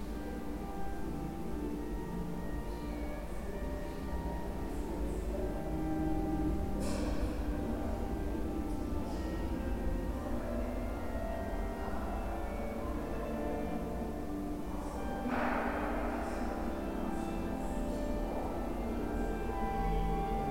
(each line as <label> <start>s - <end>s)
voices moving in this vast, reverberant space 0.0s - 20.5s